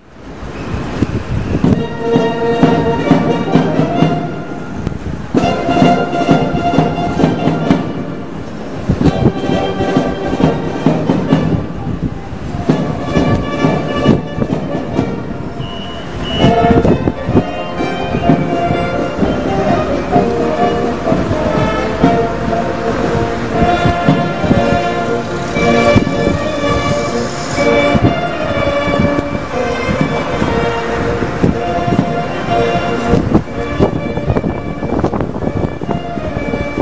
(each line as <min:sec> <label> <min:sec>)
0:00.8 Musica 0:36.8